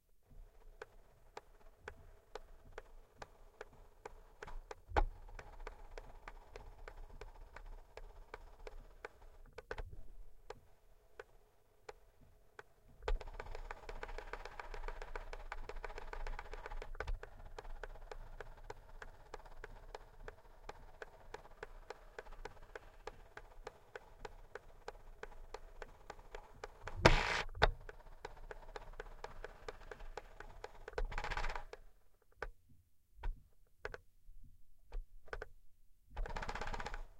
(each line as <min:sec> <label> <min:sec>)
0:26.9 motorized fader during playback 0:27.8